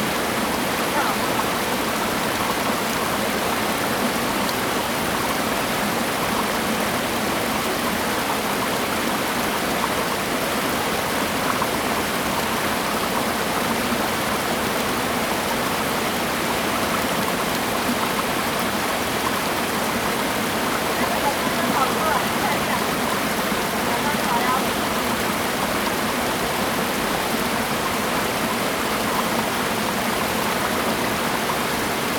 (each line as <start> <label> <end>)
0.0 stream 32.1
0.0 waterfall 32.1